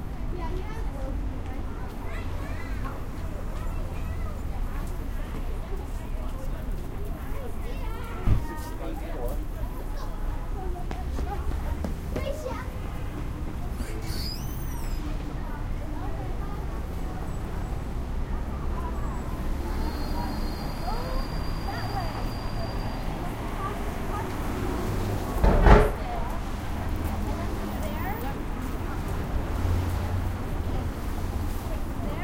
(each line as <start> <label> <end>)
0.0 cars 32.2
0.0 voices 32.2
4.7 Walking around 15.3